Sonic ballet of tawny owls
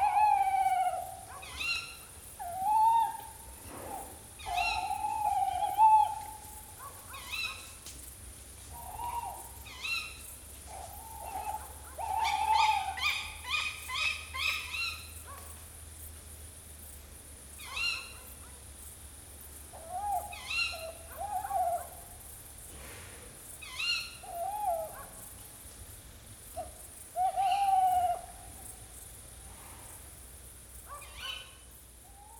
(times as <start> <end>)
0.0 7.8, 8.7 15.1, 19.7 22.2, 23.6 25.2, 26.6 28.8, 31.0 32.3